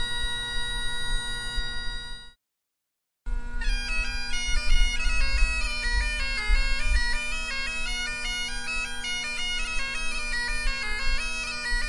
Bagpiper practicing 0.0 - 2.4
wind 0.0 - 2.4
Bagpiper practicing 3.3 - 11.8
wind 3.3 - 11.8

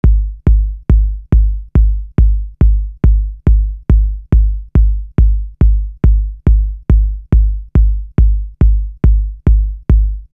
Bass 0.0 - 10.3
Kick Drum 0.0 - 10.3

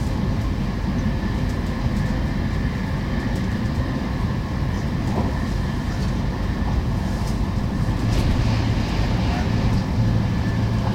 train 0.0 - 10.9

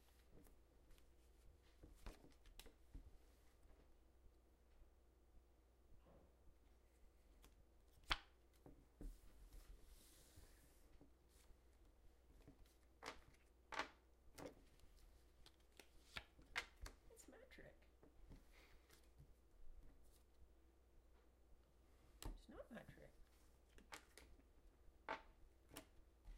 Quietly playing cards 6.9 - 20.5
Quietly playing cards 21.8 - 26.3

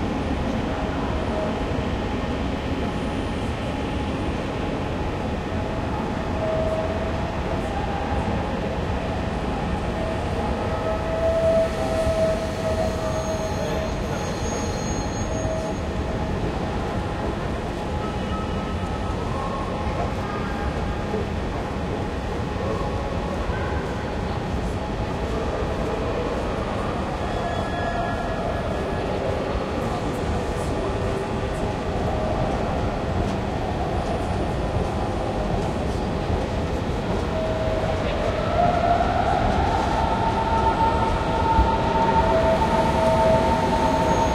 train 0.0 - 44.3

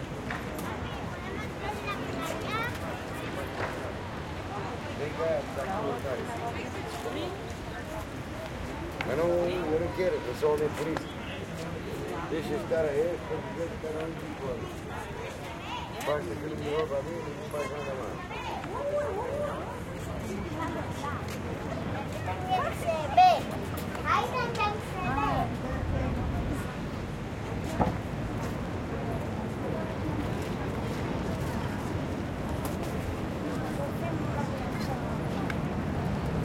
river 0.0 - 36.4

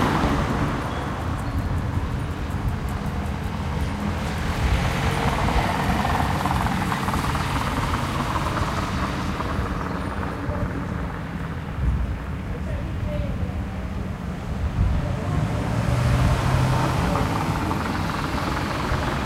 small boats go by 0.0 - 19.2
small vehicles 0.0 - 19.2
wind 0.0 - 19.2
people speaking 9.9 - 11.2
people speaking 12.5 - 13.9
people speaking 16.3 - 19.2

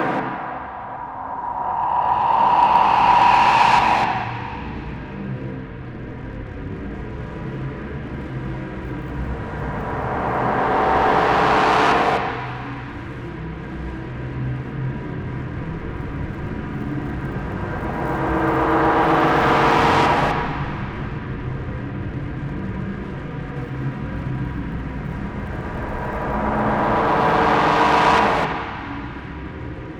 drone 0.0 - 5.8
drone 8.8 - 13.2
drone 24.8 - 29.9

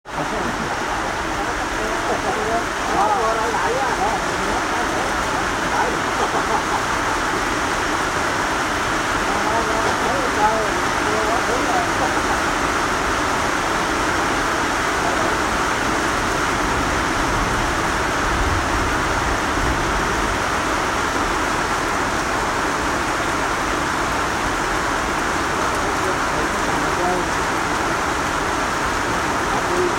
Rain 0.0 - 29.9
talk 0.1 - 7.4
talk 9.2 - 12.8
talk 14.8 - 15.7
talk 25.6 - 28.0
talk 29.4 - 29.9

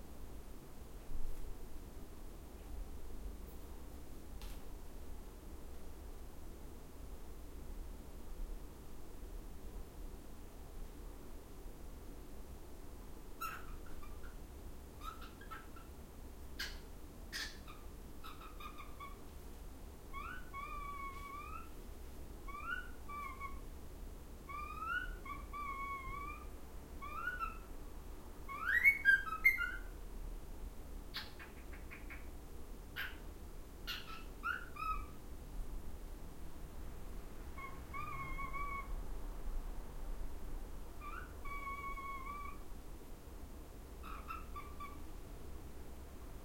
Cockatiel Whistling and Making Other Noises 13.4 - 14.4
Cockatiel Whistling and Making Other Noises 15.0 - 15.9
Cockatiel Whistling and Making Other Noises 16.6 - 19.2
Cockatiel Whistling and Making Other Noises 20.1 - 21.7
Cockatiel Whistling and Making Other Noises 22.5 - 23.6
Cockatiel Whistling and Making Other Noises 24.5 - 27.7
Cockatiel Whistling and Making Other Noises 28.5 - 29.9
Cockatiel Whistling and Making Other Noises 33.9 - 35.2
Cockatiel Whistling and Making Other Noises 37.6 - 38.9
Cockatiel Whistling and Making Other Noises 41.0 - 42.6
Cockatiel Whistling and Making Other Noises 44.0 - 45.0

